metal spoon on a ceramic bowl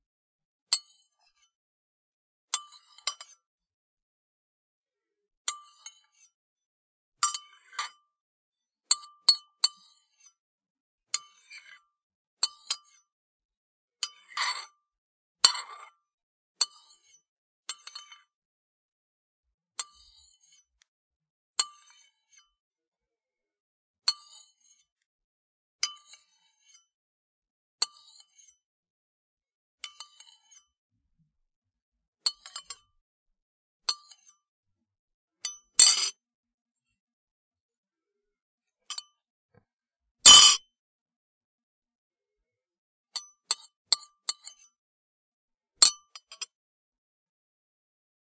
0:07.2 0:08.0, 0:14.0 0:14.8, 0:15.4 0:16.0, 0:16.6 0:18.3, 0:25.8 0:26.8, 0:29.8 0:30.6, 0:32.2 0:32.9, 0:33.9 0:34.4, 0:35.4 0:36.2, 0:40.3 0:40.6, 0:43.5 0:44.8

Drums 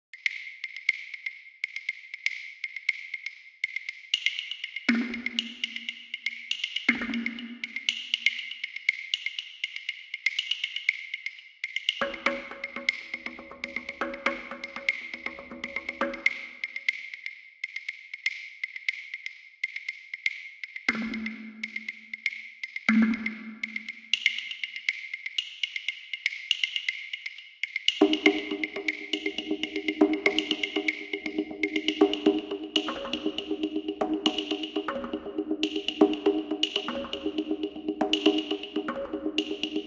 0:28.0 0:39.8

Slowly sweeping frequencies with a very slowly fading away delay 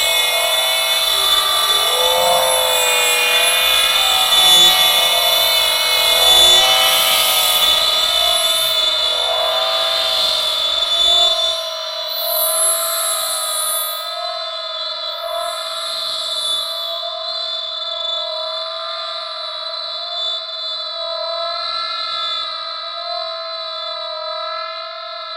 0:00.0 0:17.8

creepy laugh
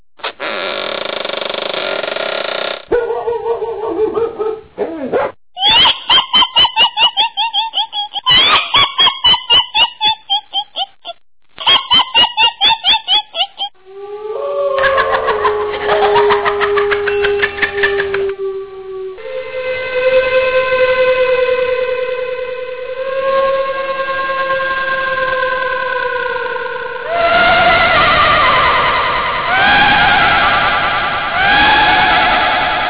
0:03.0 0:04.6, 0:05.6 0:13.8, 0:14.6 0:18.5

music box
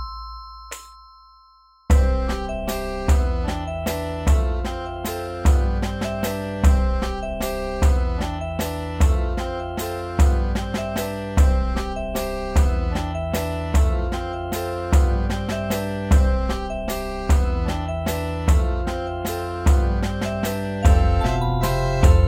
0:00.0 0:05.3, 0:20.4 0:22.2

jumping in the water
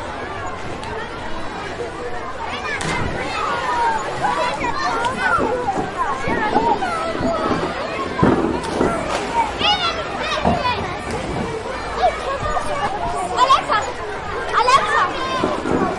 0:02.7 0:09.8

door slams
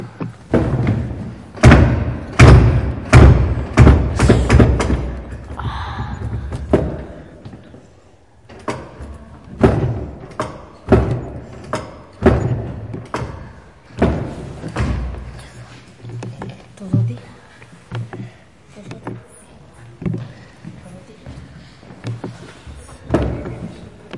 0:00.5 0:05.2

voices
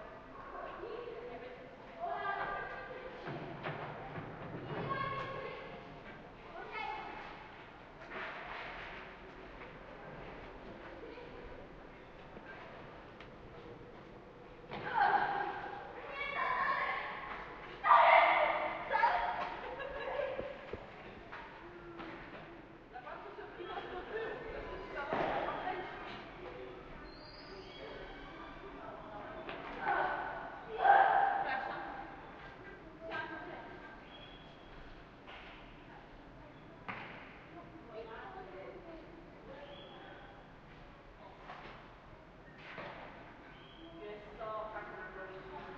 0:14.7 0:34.4

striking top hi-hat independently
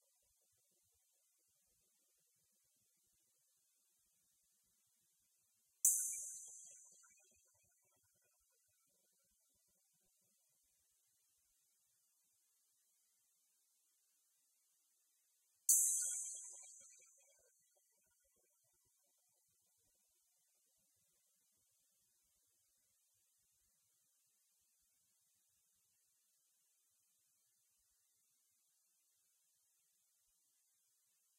0:05.8 0:07.4, 0:15.7 0:17.4

